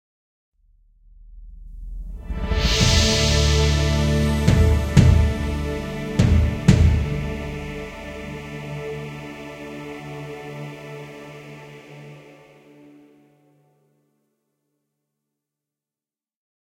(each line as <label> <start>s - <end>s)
fanfare 2.4s - 11.4s